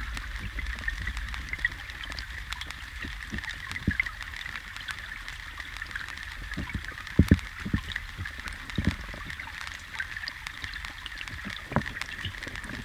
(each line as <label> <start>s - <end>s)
rain comes 0.0s - 12.8s
shits and trashs flows and hit my hydrophone 0.0s - 12.8s